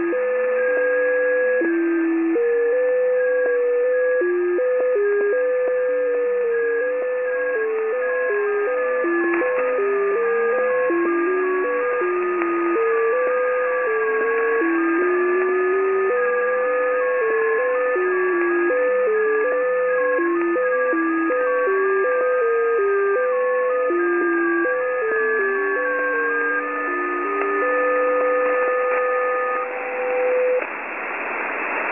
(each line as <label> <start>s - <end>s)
Signals 20.5s - 30.7s
static 24.2s - 31.9s